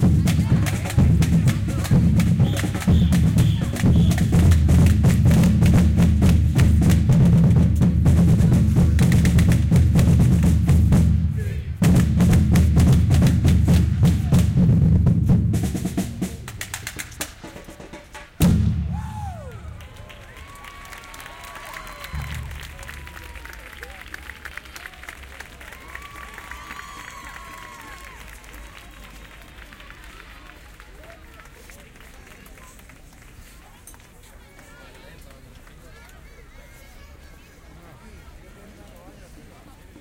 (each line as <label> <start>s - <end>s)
group of drummers in a street performance 0.0s - 19.8s
group of drummers in a street performance 22.0s - 23.8s